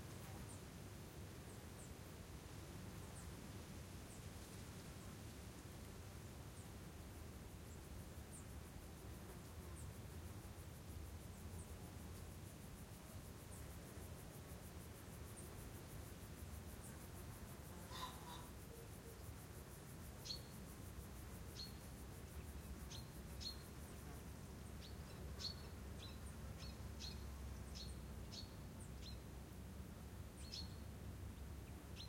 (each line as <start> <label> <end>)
17.7 pheasant 19.2
17.9 foreground robin 19.2
24.8 foreground robin 29.2
30.4 foreground robin 30.8